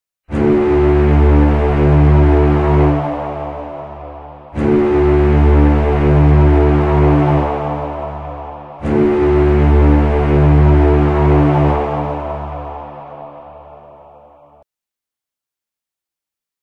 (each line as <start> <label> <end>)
0.3 Strings 14.6